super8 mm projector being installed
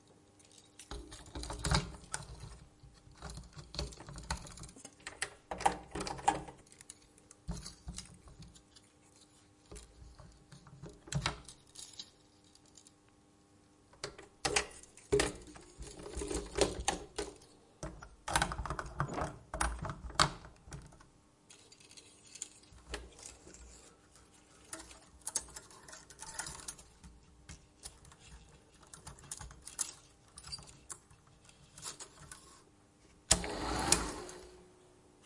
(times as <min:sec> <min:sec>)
0:33.3 0:34.8